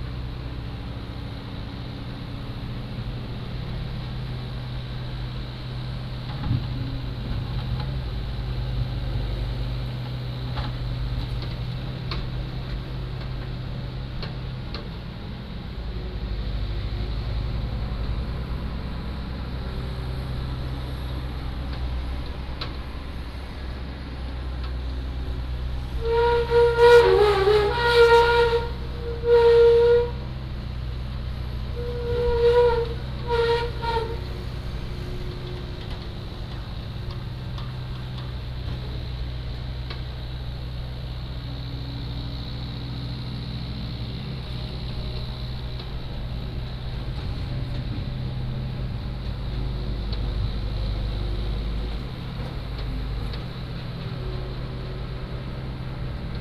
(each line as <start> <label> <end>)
0.0 Bulldozer 56.4